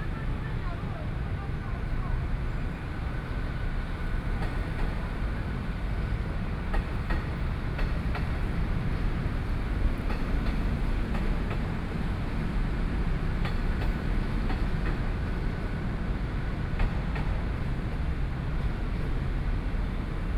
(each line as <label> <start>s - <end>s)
Train traveling through 0.0s - 20.3s